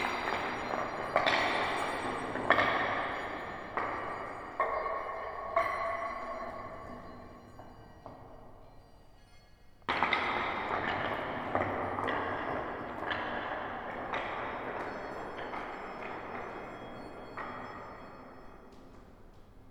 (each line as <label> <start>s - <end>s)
walking in the cloister 0.0s - 19.7s